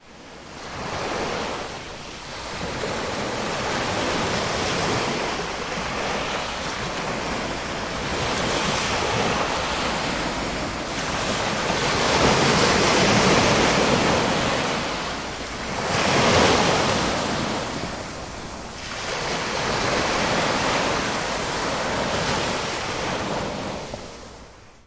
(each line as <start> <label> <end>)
0.0 Waves 24.8